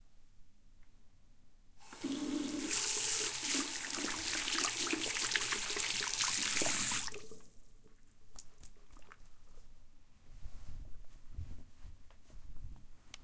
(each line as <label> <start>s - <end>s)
Water tap being turned on 1.8s - 7.5s
washing hands 1.8s - 7.5s